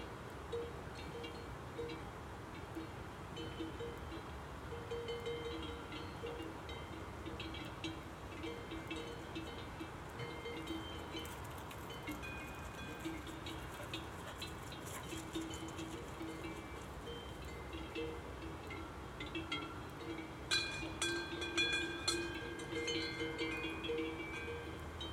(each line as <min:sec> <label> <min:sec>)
0:00.0 herd of cows with bells 0:25.1
0:00.0 noise of the road 0:25.1
0:13.6 fodder dogs 0:15.9